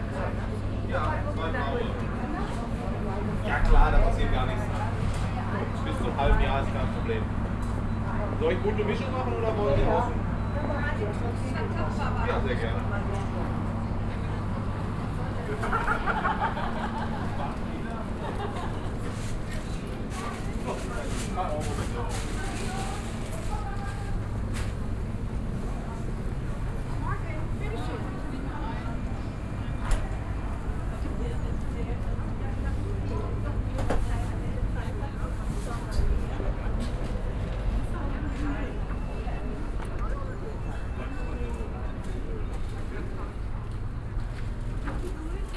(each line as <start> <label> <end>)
0.0 walking along stalls 45.5
14.2 shoppers 40.1